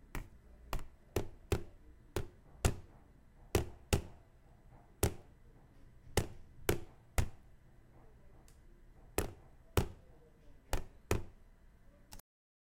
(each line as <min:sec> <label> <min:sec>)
0:00.1 plastic knocking sound 0:10.1